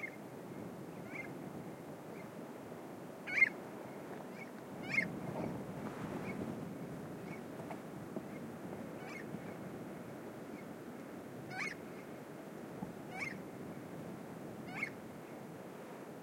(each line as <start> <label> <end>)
0.0 windy 16.2
3.3 Unknown bird 3.6
4.3 Unknown bird 5.5
9.0 Unknown bird 9.3
11.5 Unknown bird 11.8
13.1 Unknown bird 13.4